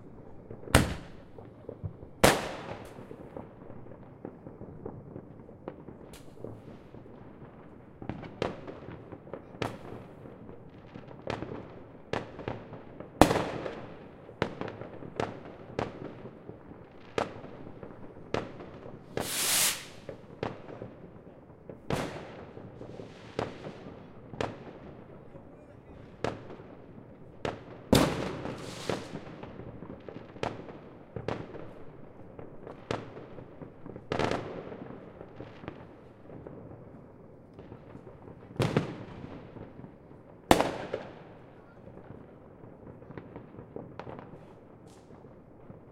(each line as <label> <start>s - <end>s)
Fireworks 0.0s - 45.9s
fire-crackers 0.0s - 45.9s
rockets 0.0s - 3.6s
rockets 17.2s - 31.7s